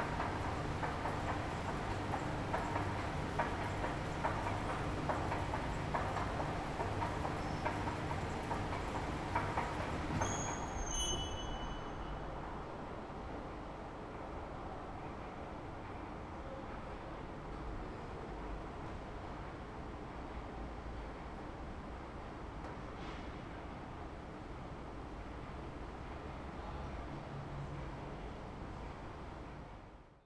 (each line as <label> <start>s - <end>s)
subway 0.0s - 30.2s